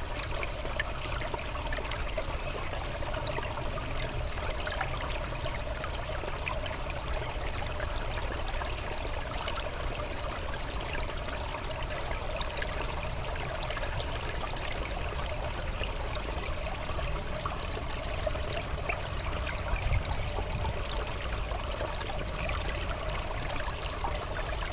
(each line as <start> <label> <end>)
0.0 quiet river 24.7